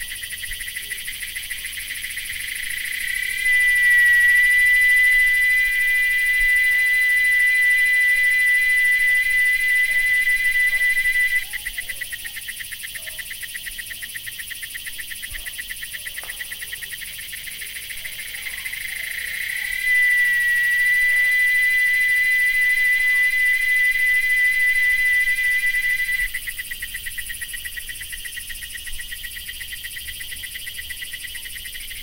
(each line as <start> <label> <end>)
0.0 intense cicada (Quesada Gigas) 32.0